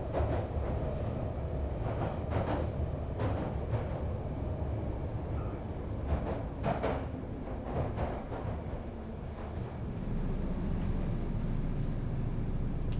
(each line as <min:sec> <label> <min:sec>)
0:00.0 Travelling on the London Underground 0:12.9